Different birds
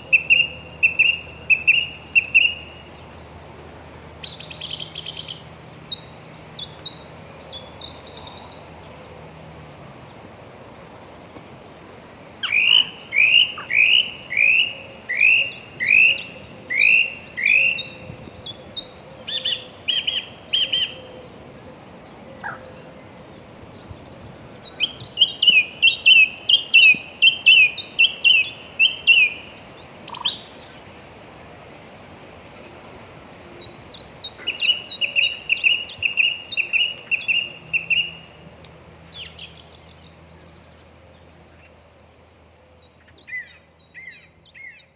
12.4s 44.9s

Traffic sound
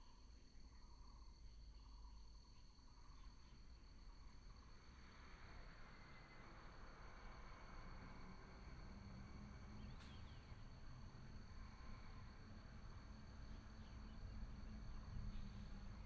4.9s 16.0s

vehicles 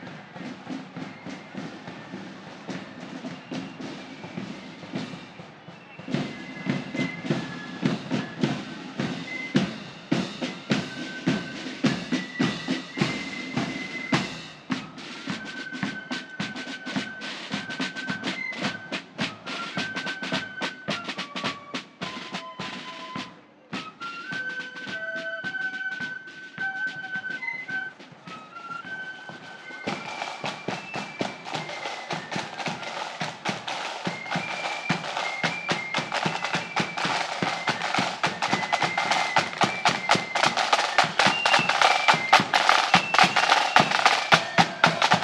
28.7s 45.2s

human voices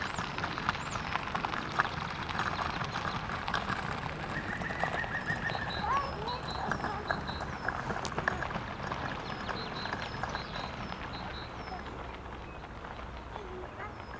5.3s 12.1s, 13.3s 14.1s

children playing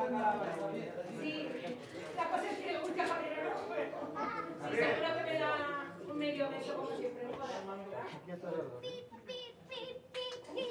3.7s 5.2s

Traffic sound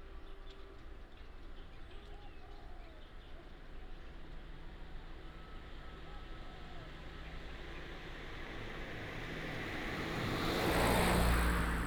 7.0s 11.8s

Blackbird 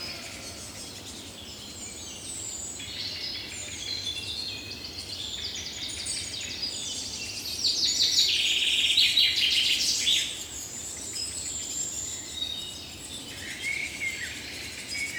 0.0s 4.1s

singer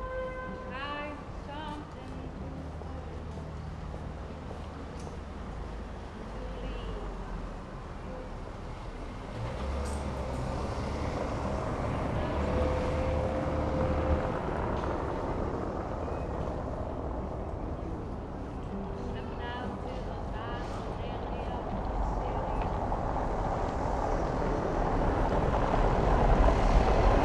0.0s 3.8s

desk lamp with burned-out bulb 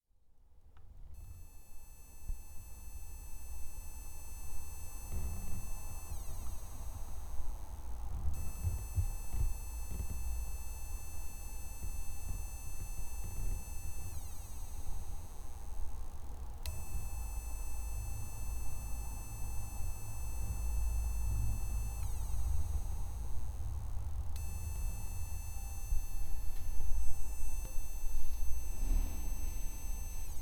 16.6s 30.4s

